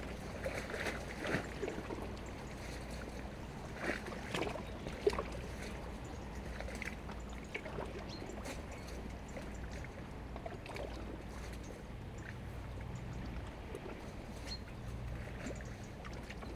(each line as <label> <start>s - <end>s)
boat is passing by 0.0s - 16.5s